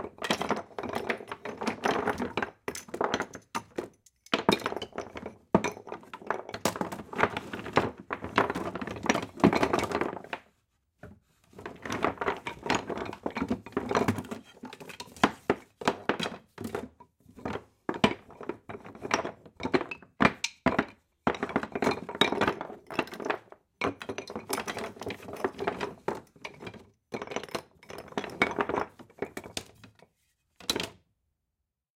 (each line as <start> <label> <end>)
0.0 Rummaging Through Wooden Toys 31.0